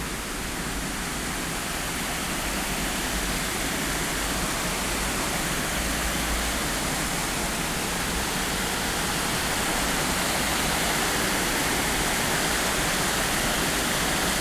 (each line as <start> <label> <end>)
0.0 artificial waterfall 14.4